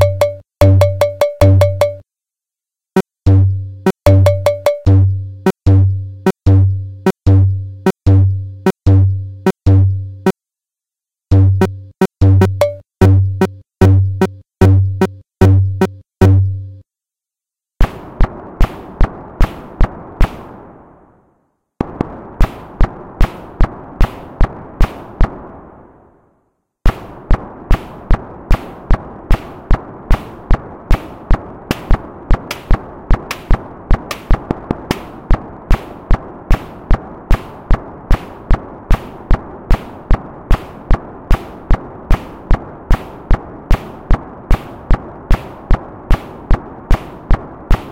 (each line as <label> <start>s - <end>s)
drums 0.0s - 2.0s
drums 3.0s - 10.4s
drums 11.3s - 16.7s
drums 17.8s - 20.7s
noises 17.8s - 47.9s
drums 21.8s - 25.5s
drums 26.8s - 47.9s